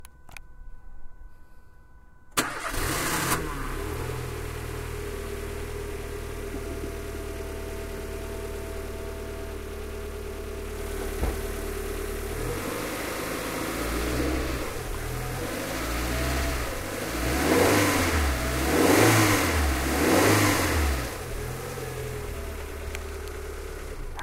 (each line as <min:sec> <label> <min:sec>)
0:02.3 car 0:24.2